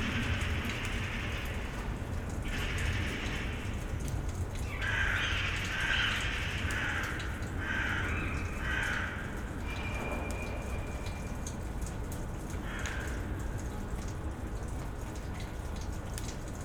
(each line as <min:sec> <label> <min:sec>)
0:04.7 crows 0:09.4
0:12.6 crows 0:13.4